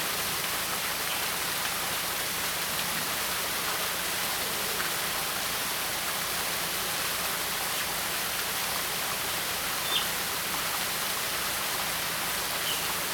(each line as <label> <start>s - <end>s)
water 0.0s - 13.1s